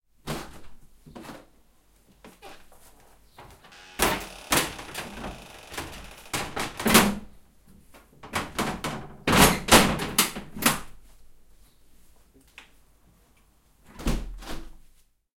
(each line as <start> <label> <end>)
3.7 window 7.1
3.7 shutters closing 7.2